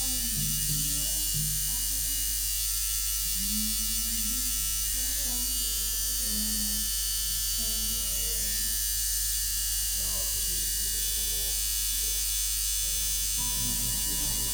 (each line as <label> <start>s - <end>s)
discussion 0.0s - 2.3s
tattooing 0.0s - 9.5s
discussion 3.3s - 14.5s
tattooing 11.0s - 14.5s
music 13.4s - 14.5s